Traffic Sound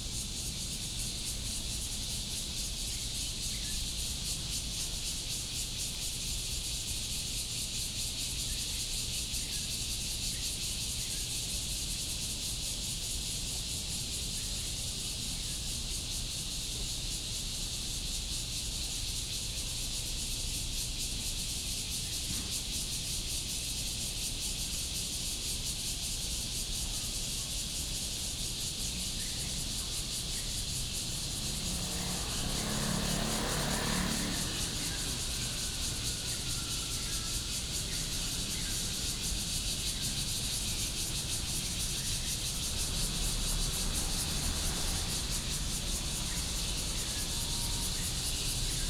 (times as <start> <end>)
28.1 48.8